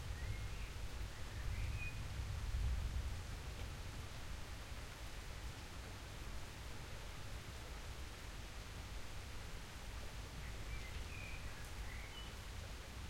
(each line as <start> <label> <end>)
0.0 rain 13.0